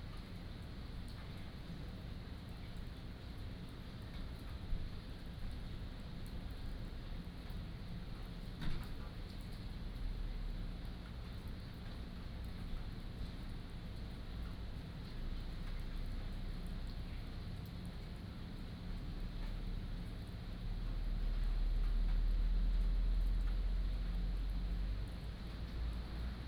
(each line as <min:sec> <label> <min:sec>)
0:00.0 Rain 0:26.4